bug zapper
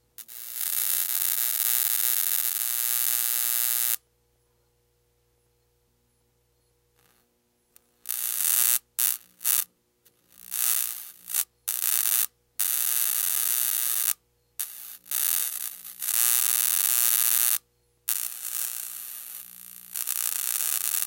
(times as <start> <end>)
8.0 9.7, 10.4 21.0